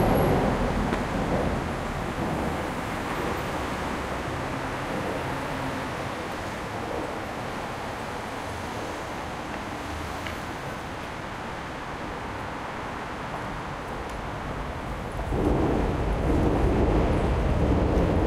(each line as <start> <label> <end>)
0.0 Cars 18.2